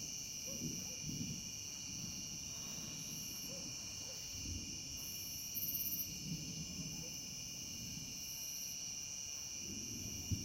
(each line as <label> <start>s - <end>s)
cicada 0.0s - 10.4s
dogs 0.4s - 1.1s
far thunder 0.4s - 3.8s
dogs 3.4s - 4.3s
far thunder 6.0s - 8.2s
far thunder 9.6s - 10.4s